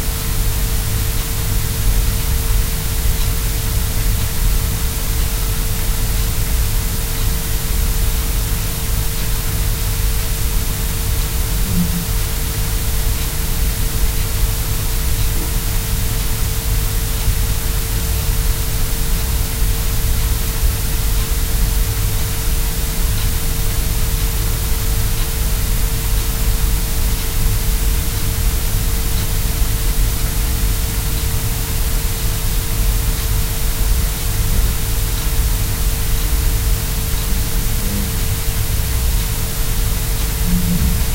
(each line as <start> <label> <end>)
0.0 High Pink Noise 41.1
11.5 interference 12.4
11.6 feedback 12.3
37.2 interference 38.6
37.6 feedback 38.4
39.8 interference 41.1
40.2 feedback 41.1